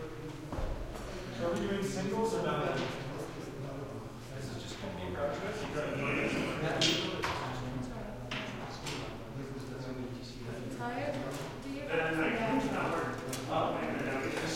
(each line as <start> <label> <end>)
5.4 roomy voices 7.0
11.9 roomy voices 14.5